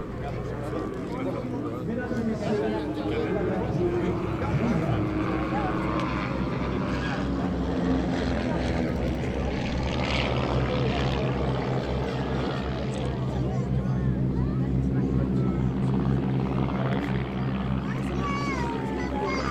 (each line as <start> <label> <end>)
0.0 Bretiling planes and other old flying machines sounds 19.5
0.0 crowd 19.5